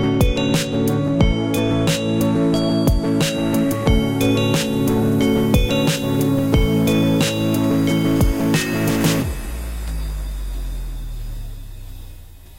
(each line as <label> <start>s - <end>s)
vibey music 0.0s - 10.8s